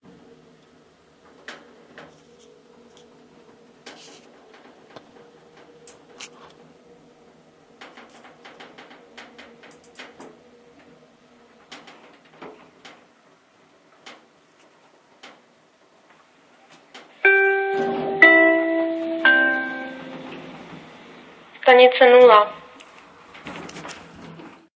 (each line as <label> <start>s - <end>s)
elevator 0.1s - 21.6s
Jingle 17.2s - 20.5s
announcement 17.2s - 20.6s
announcement 21.6s - 22.6s
elevator 22.2s - 24.7s